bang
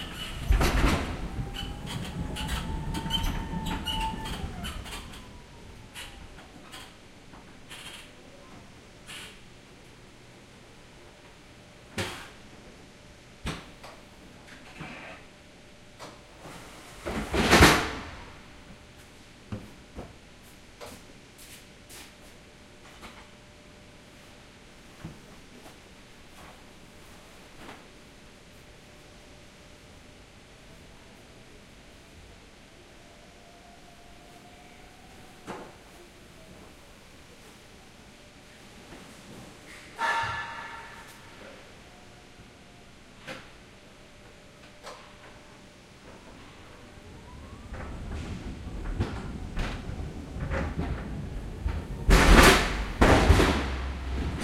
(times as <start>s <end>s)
40.0s 41.5s, 52.1s 54.4s